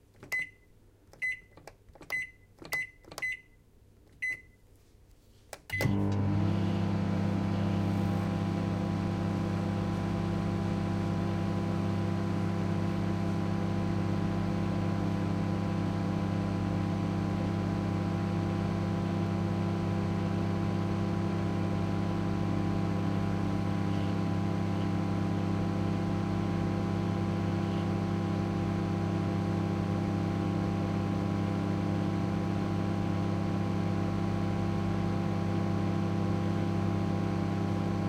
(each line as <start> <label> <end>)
0.2 Microwave switched on, runs, beeps and opened 3.6
4.2 Microwave switched on, runs, beeps and opened 4.6
5.7 Microwave switched on, runs, beeps and opened 8.7